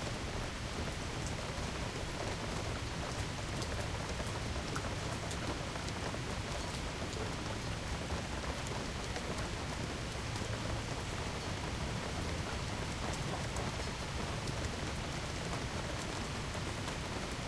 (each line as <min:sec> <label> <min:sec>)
0:00.0 Rain Shower 0:17.4